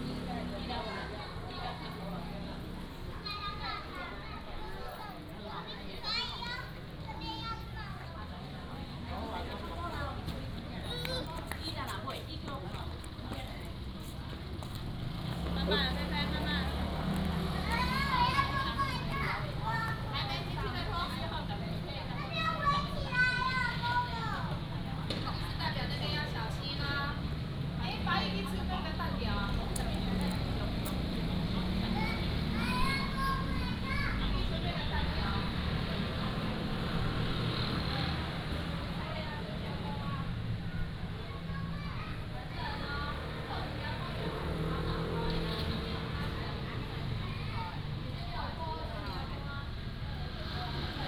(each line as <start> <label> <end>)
0.0 Traffic Sound 51.0